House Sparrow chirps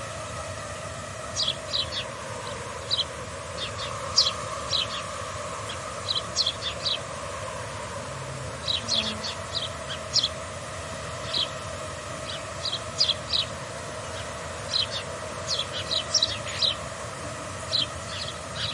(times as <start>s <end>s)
2.8s 7.1s, 8.6s 10.4s, 12.2s 16.9s, 17.7s 18.7s